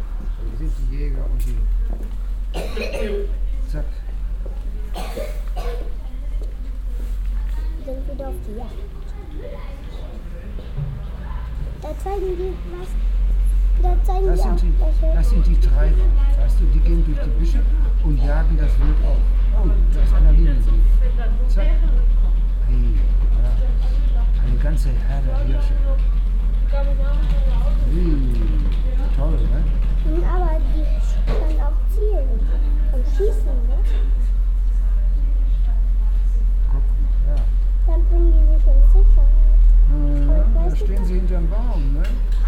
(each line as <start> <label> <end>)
7.4 grandpa and grandchild talking 10.3
11.7 grandpa and grandchild talking 20.6
26.7 grandpa and grandchild talking 34.2
37.4 grandpa and grandchild talking 42.4